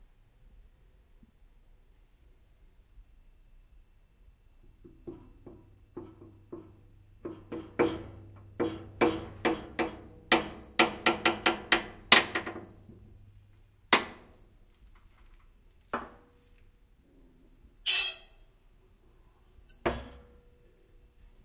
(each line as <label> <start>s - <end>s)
metal bender creaks clacks bending creaks squeaks 17.8s - 18.4s
metal bender creaks clacks bending creaks squeaks 19.6s - 19.9s